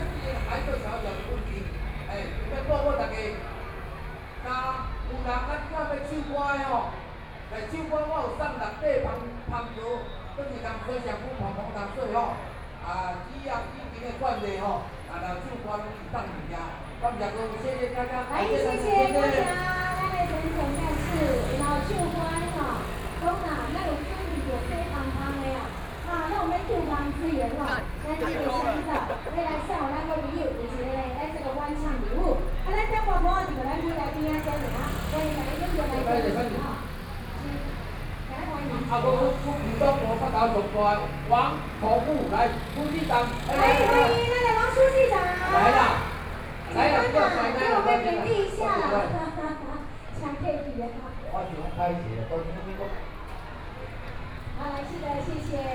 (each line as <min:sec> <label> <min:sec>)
0:00.0 Traffic Noise 0:55.7
0:17.2 Community party 0:49.5